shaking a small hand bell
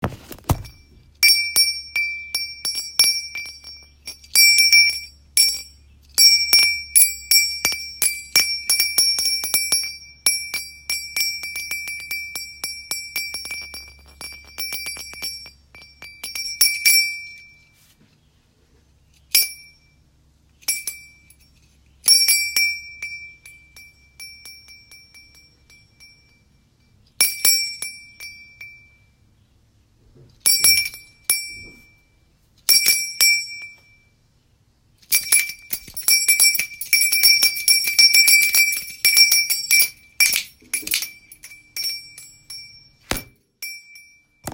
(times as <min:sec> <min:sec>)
0:00.7 0:17.8, 0:35.1 0:43.0